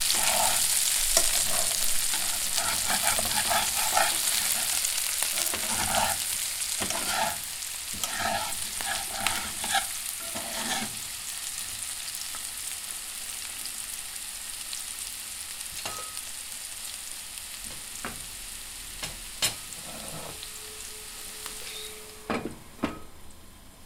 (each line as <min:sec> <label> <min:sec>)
0:00.0 Mixing potatoes 0:11.0
0:00.0 Potatoes fried in a pan 0:21.9